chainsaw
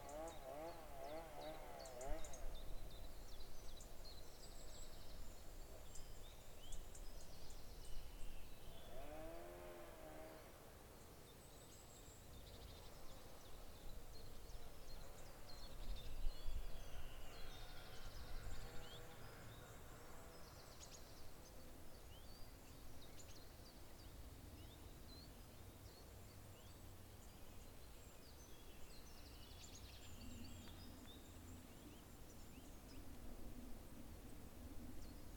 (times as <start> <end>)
0.0 3.0, 8.8 10.9